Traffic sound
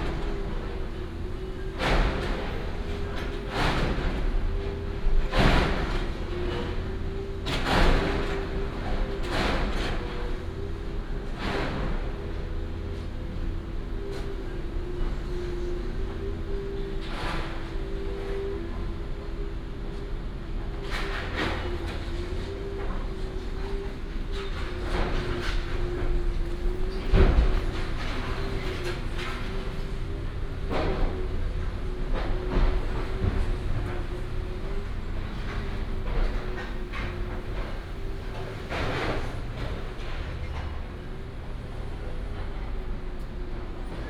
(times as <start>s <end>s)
34.0s 43.4s